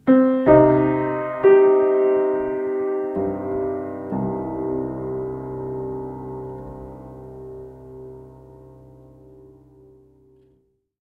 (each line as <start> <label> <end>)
0.0 Piano 10.8